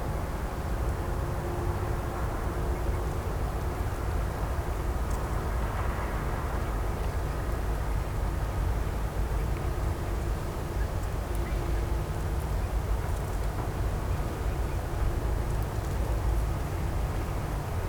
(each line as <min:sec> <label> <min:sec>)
0:00.0 Noise of the city 0:17.8